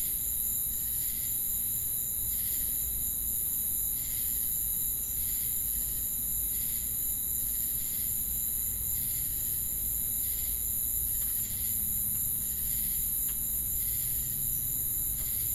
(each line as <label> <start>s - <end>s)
Crickets 0.0s - 15.5s